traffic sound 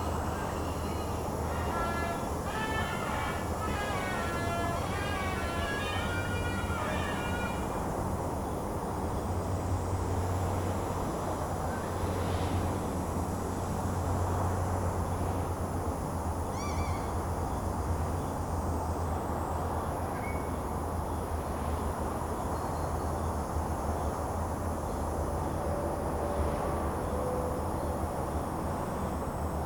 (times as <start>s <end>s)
0.0s 16.6s